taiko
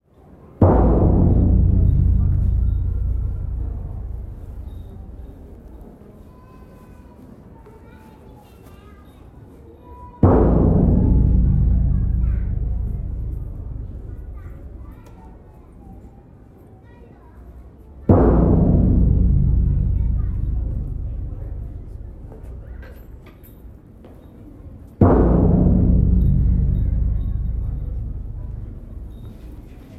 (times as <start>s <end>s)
0.6s 6.0s, 10.2s 16.0s, 18.1s 23.7s, 25.0s 29.9s